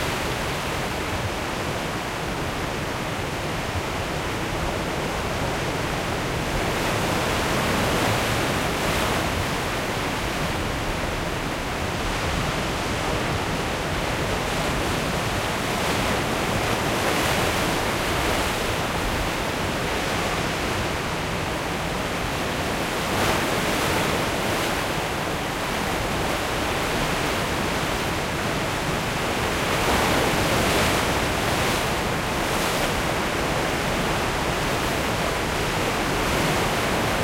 waves 0.0 - 37.2

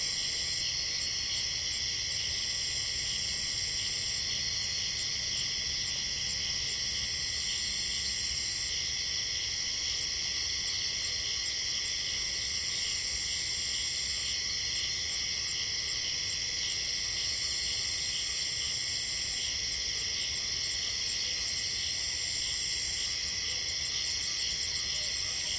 Cicades 0.0 - 25.5

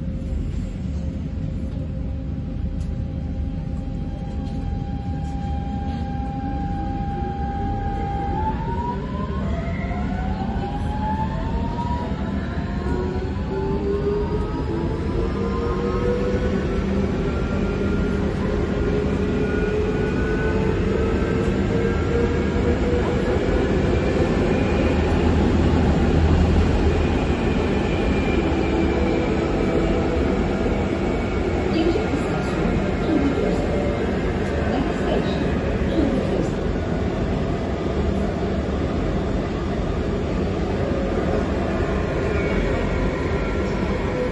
passengers 0.0 - 44.3

